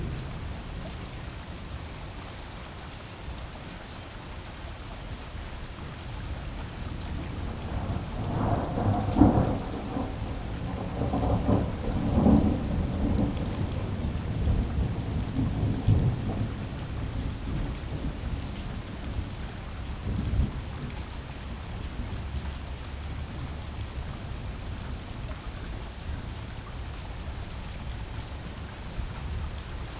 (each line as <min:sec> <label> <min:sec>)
0:00.0 raindrops 0:29.9
0:07.1 thunder 0:18.9